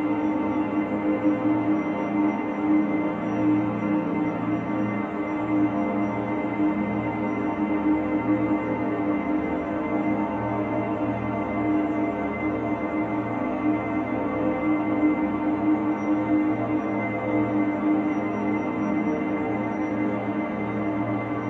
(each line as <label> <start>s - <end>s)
dreamscape drone 0.0s - 21.4s